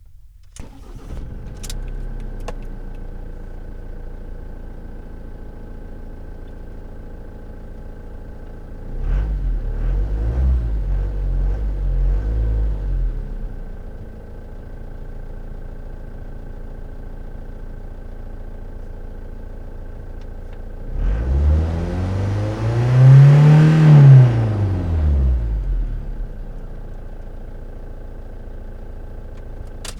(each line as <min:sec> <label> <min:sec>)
0:00.0 Engine from interior 0:29.9